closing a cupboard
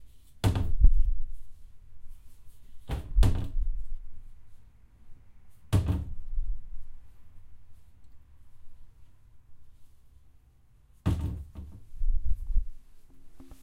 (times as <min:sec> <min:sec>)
0:00.4 0:01.0, 0:02.8 0:03.8, 0:05.7 0:06.3, 0:11.0 0:12.0